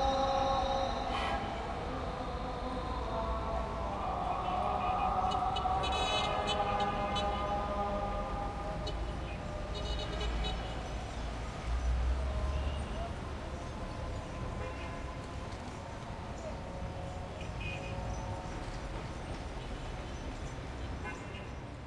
Muezzin calls from mosques all over 0.0 - 21.8

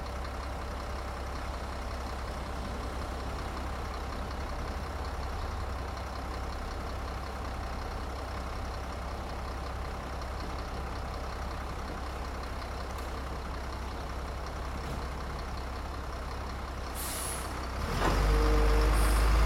recycling truck picks up the recycling 16.9 - 19.4

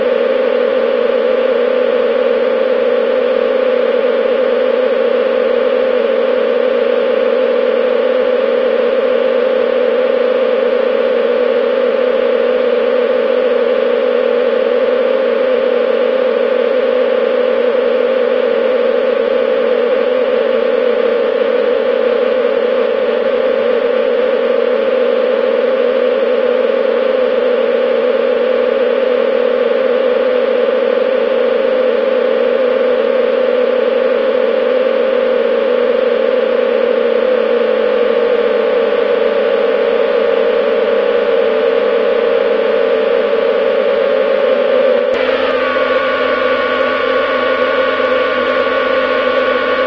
buzzing 44.5 - 49.8

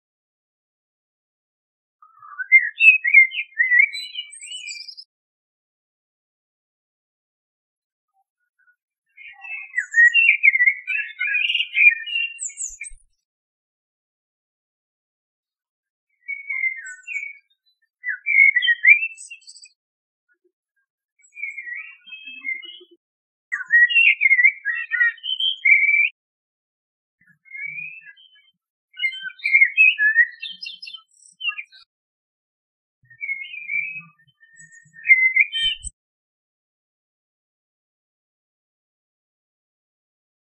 blackbird song 2.0 - 5.1
blackbird song 8.1 - 13.3
blackbird song 16.1 - 26.2
blackbird song 27.2 - 32.0
blackbird song 33.0 - 36.0

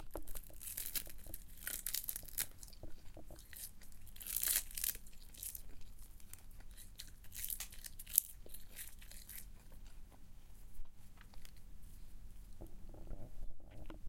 someone eating seaweed 0.0 - 10.2

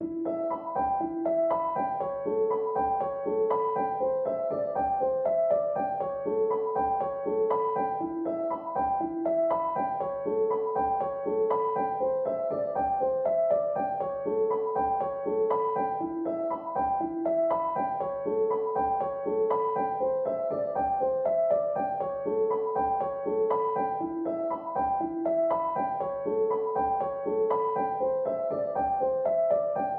piano 0.0 - 29.9

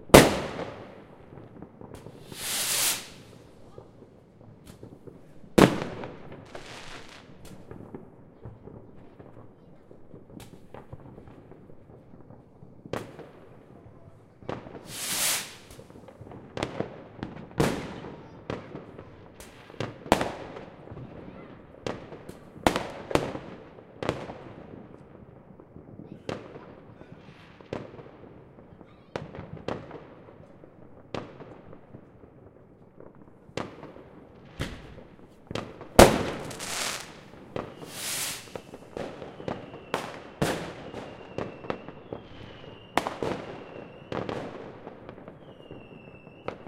rockets 0.0 - 16.3
Fireworks 0.0 - 46.6
fire-crackers 0.0 - 46.6
rockets 33.2 - 44.6
explosions 35.5 - 39.0

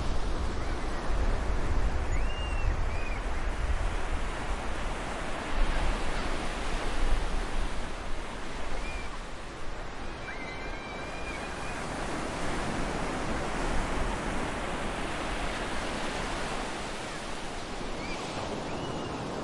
waves 0.0 - 19.4

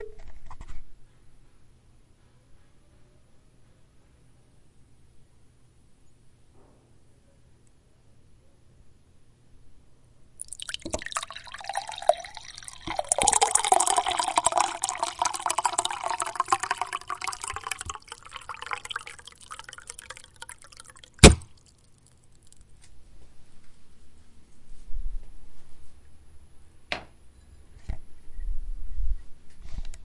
Pouring water into a glass 10.4 - 22.6

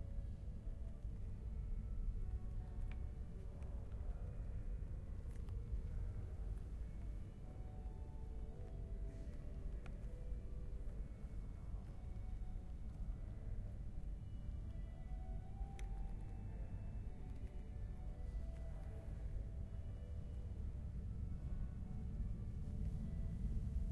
metro arrival 5.8 - 23.9

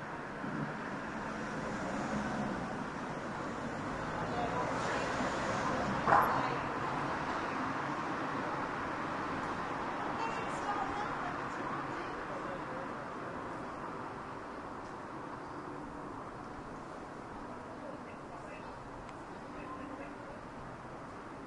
cars 0.0 - 21.4

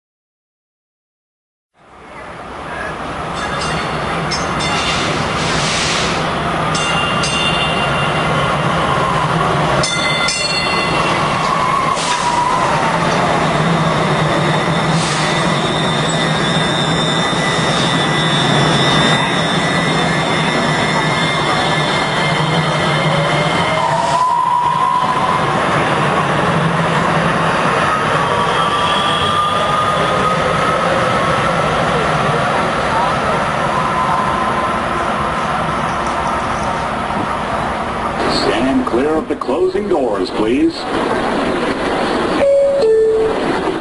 Train arriving and departing 1.7 - 43.8

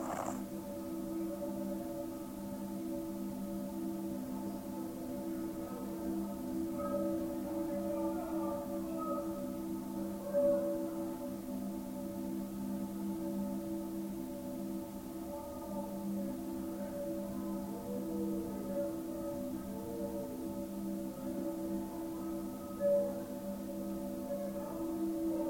ceramic Dango sculptures 0.0 - 0.4

